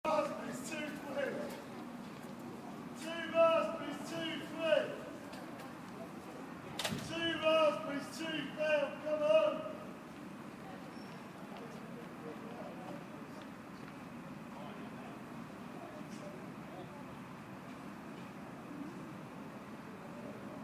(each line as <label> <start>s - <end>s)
crowd 0.0s - 20.6s